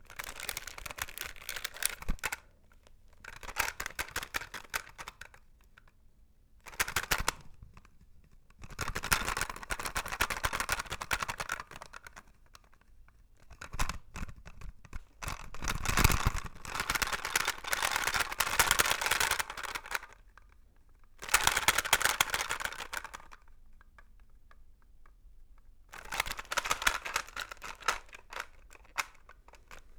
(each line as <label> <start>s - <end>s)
articulated plastic doll 0.0s - 6.0s
articulated plastic doll 6.7s - 29.9s